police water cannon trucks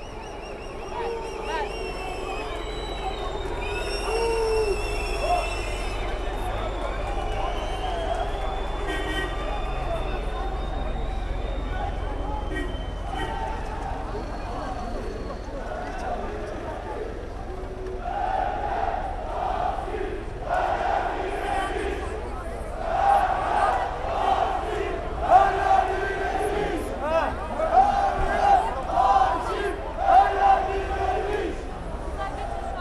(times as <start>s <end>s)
0.0s 18.0s